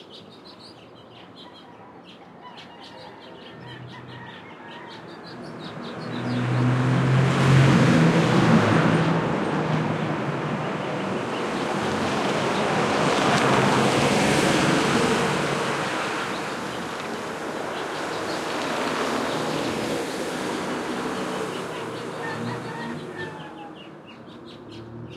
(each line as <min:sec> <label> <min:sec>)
0:00.0 birds 0:06.9
0:00.0 traffic 0:25.1
0:01.4 rooster 0:05.5
0:15.7 birds 0:25.1
0:21.7 rooster 0:24.0